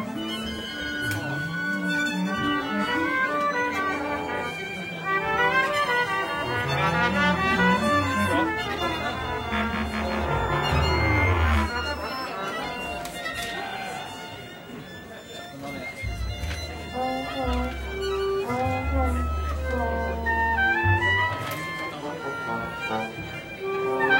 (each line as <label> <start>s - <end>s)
audience 5.3s - 15.2s